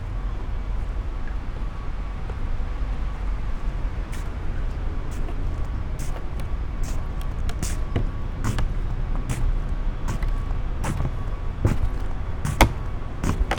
slippers on wooden floor 0:03.6 - 0:13.5

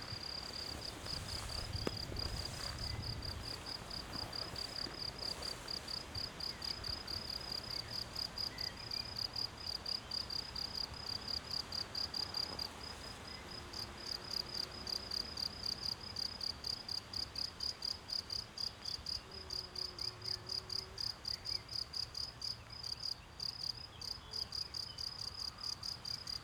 wind in trees 0:00.0 - 0:16.5
crickets 0:00.0 - 0:26.4

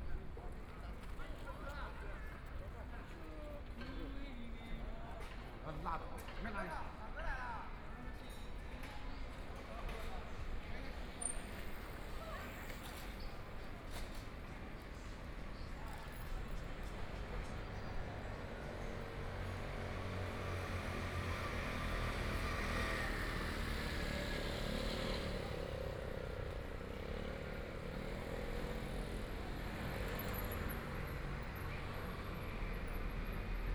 Traffic Sound 0:10.4 - 0:33.7

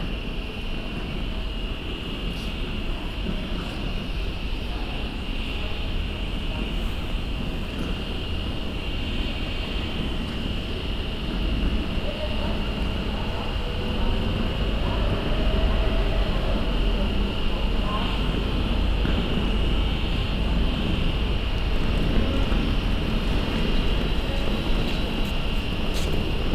suitcases rolling by 0:09.8 - 0:26.5

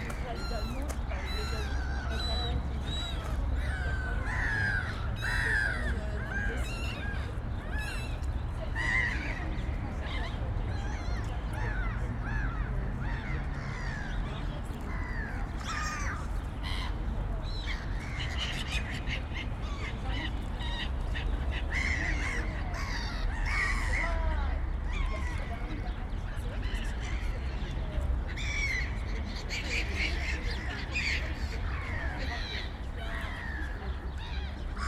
birds 0:00.0 - 0:34.8
busy urban environment 0:00.0 - 0:34.8
people 0:00.0 - 0:34.8

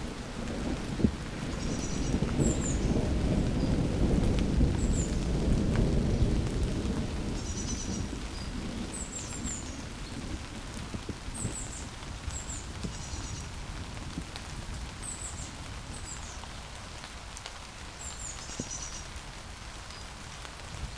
thunder lurk in the distance 0:00.0 - 0:16.0
fine drops of rain disperse over leaves 0:00.0 - 0:20.9

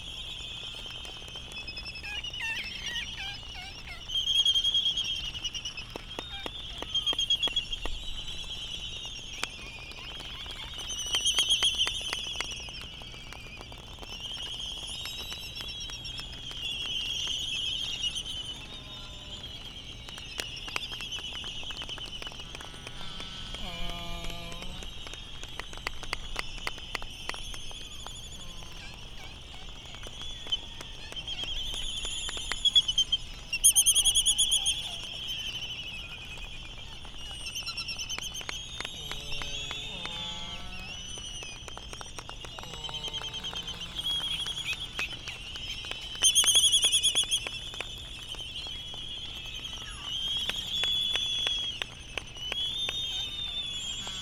laysan calls 0:00.0 - 0:54.2

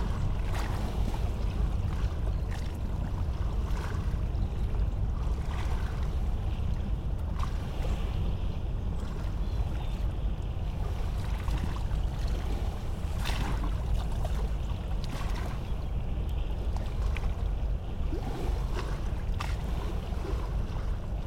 boat is passing by on the Seine river 0:00.0 - 0:21.2

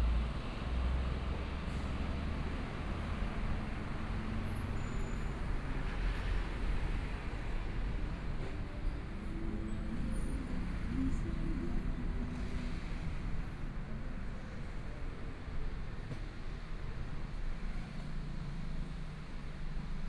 Traffic Sound 0:00.0 - 0:20.0

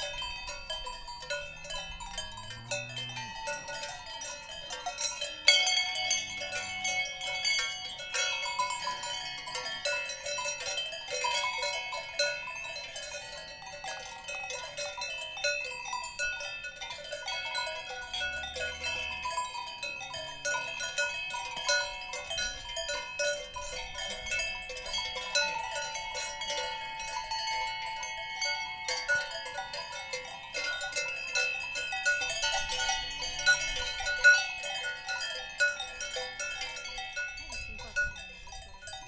cow bells 0:00.0 - 0:39.0

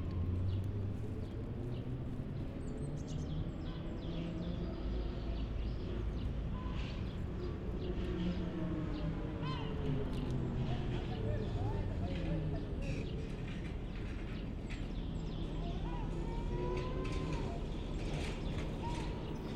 sounds of the harbour in the background 0:00.0 - 0:19.5
tram line 1+2 u-turn 0:07.3 - 0:19.5

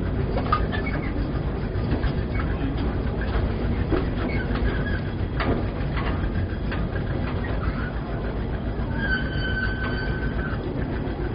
diesel engine 0:00.0 - 0:11.3
ride on the park train 0:00.0 - 0:11.3
voices of passengers 0:00.0 - 0:11.3

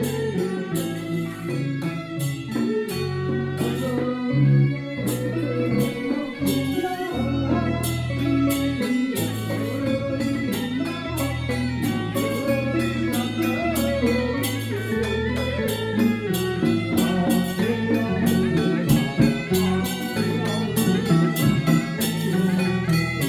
Traditional funeral ceremony 0:00.0 - 0:23.2

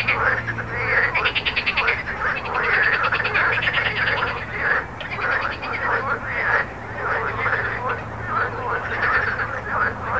Frog 0:00.0 - 0:10.1
road 0:00.0 - 0:10.1

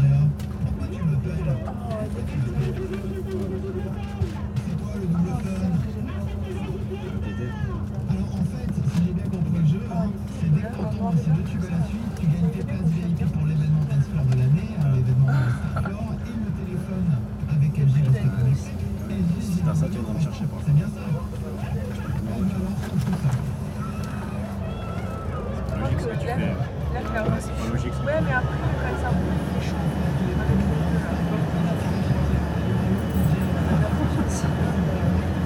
air conditioning 0:00.0 - 0:35.4
bus 0:00.0 - 0:35.4
people's conversations 0:00.0 - 0:35.4

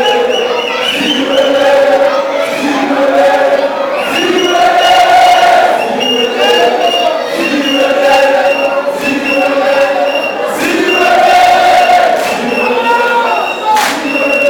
football supporters singing 0:00.0 - 0:14.4

